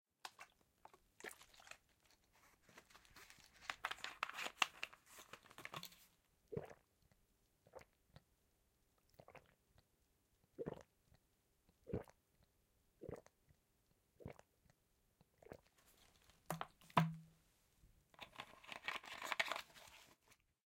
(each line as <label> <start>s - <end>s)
drinks, gulps 6.5s - 8.2s
drinks, gulps 9.0s - 9.8s
drinks, gulps 10.5s - 13.6s
drinks, gulps 14.2s - 15.7s